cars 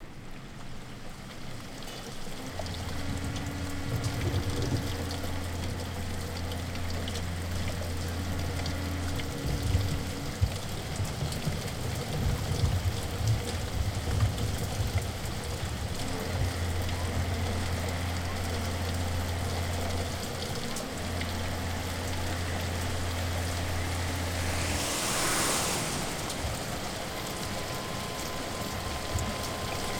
16.5s 29.9s

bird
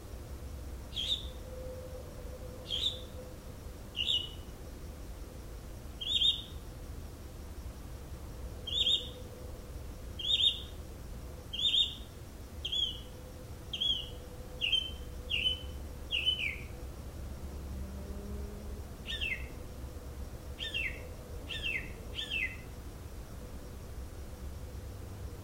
0.9s 1.8s, 2.7s 3.3s, 4.0s 4.4s, 6.0s 6.6s, 8.7s 9.2s, 10.2s 10.7s, 11.5s 13.1s, 13.7s 16.7s, 19.1s 19.6s, 20.6s 22.6s

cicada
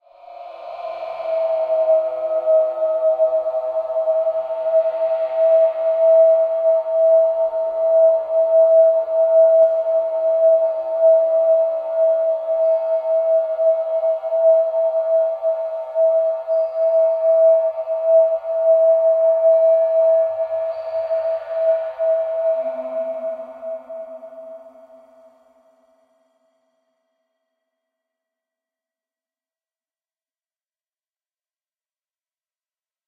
0.0s 25.3s

